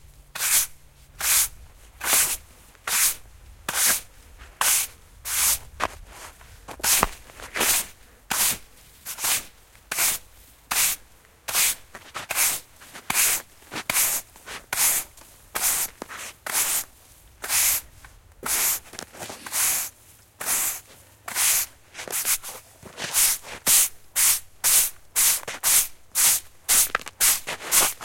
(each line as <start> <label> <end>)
0.4 man brushing snow from the path 28.0
2.0 footsteps 10.0
11.5 footsteps 19.8
20.5 footsteps 23.6
26.7 footsteps 28.0